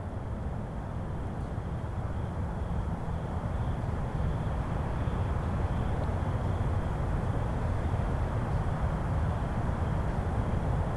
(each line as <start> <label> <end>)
0.0 crickets 10.9